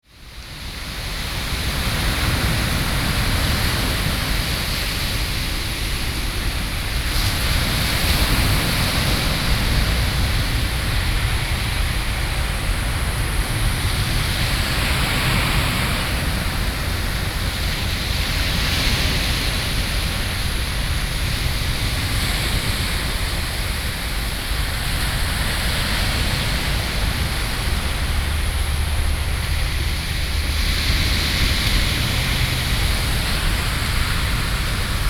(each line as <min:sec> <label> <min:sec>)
0:00.1 waves 0:35.0